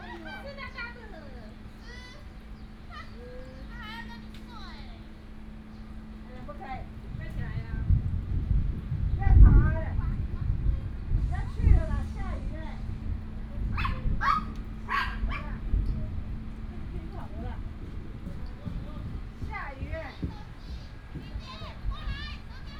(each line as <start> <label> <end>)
0.0 Birds sound 6.7
0.0 Tourists 22.7
0.0 Traffic sound 22.7
10.2 thunder sound 14.9
13.8 Dog sounds 15.6